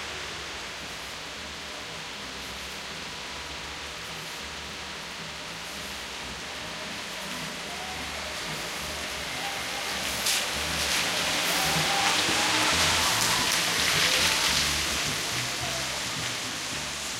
soft rain on a street 0.0 - 17.1
car drive by 7.1 - 17.1

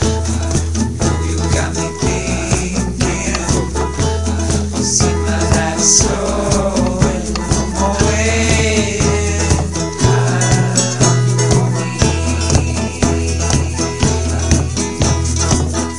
acoustic guitar 0.0 - 15.9
bass 0.0 - 15.9
drum beat 0.0 - 15.9
piano 0.0 - 15.9
vocal loops 0.0 - 15.9
whistle 0.0 - 15.9

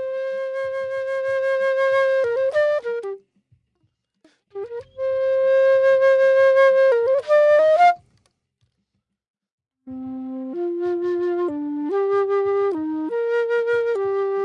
flute playing 0.0 - 3.2
flute playing 4.6 - 8.0
flute playing 9.9 - 14.4

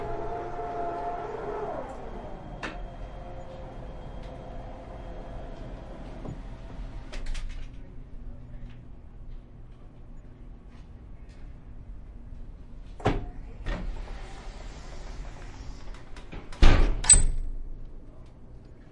handicapped door open and close 13.0 - 17.6

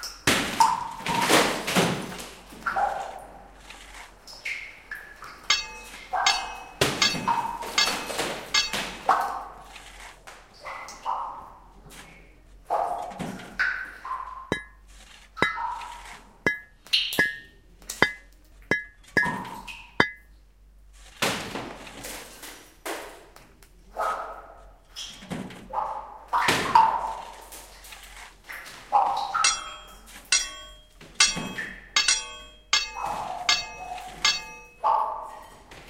digging 5.5 - 10.2
digging 14.5 - 20.2
digging 29.4 - 34.8

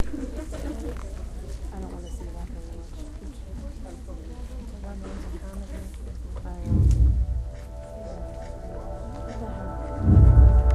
crowd 0.0 - 10.7
coming attractions and commercials 6.6 - 10.7

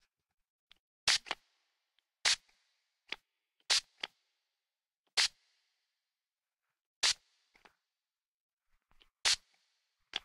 aerosol bottle being sprayed 1.1 - 1.4
aerosol bottle being sprayed 2.2 - 2.5
aerosol bottle being sprayed 5.2 - 5.4
aerosol bottle being sprayed 7.0 - 7.2
aerosol bottle being sprayed 9.2 - 9.5

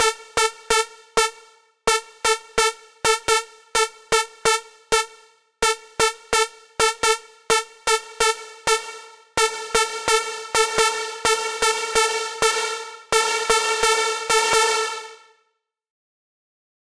lead synth 6.0 - 15.2

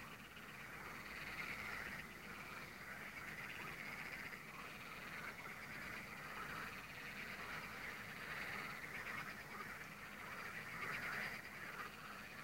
frogs 0.0 - 12.4

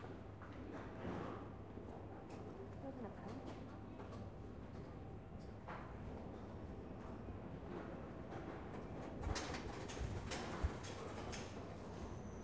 subway 0.0 - 12.4

